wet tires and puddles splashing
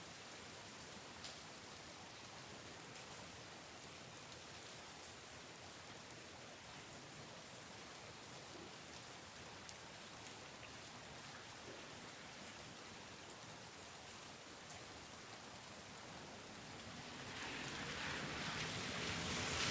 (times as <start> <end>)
16.6 19.7